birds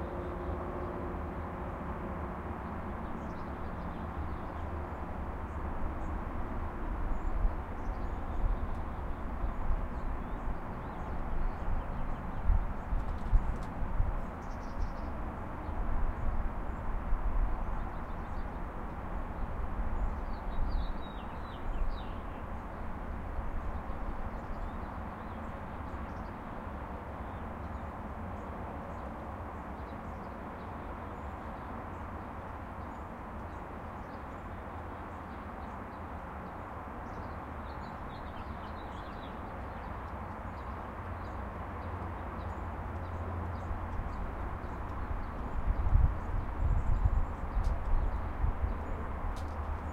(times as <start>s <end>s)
7.1s 16.9s, 23.6s 49.9s